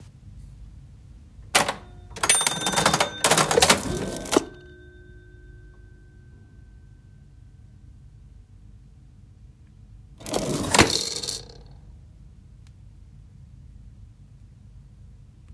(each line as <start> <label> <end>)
1.6 coin rattle and whirr 4.8
1.6 old cash register open and close with a bing 5.3
10.2 coin rattle and whirr 11.7
10.2 old cash register open and close with a bing 11.6